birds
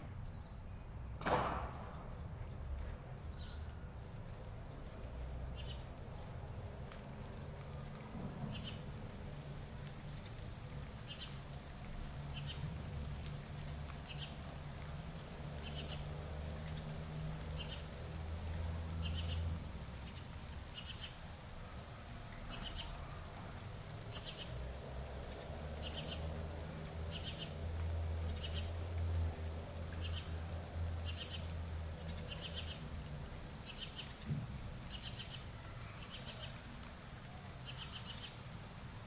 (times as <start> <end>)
4.7 6.0, 8.5 9.0, 9.8 38.5